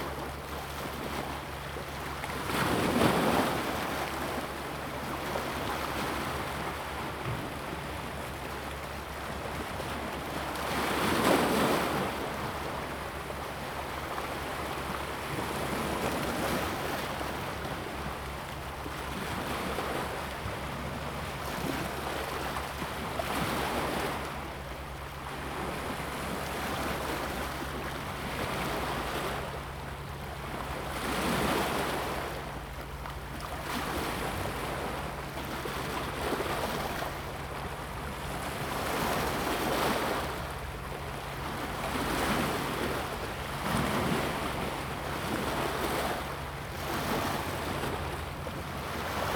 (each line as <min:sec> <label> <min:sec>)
0:00.0 Waves 0:49.3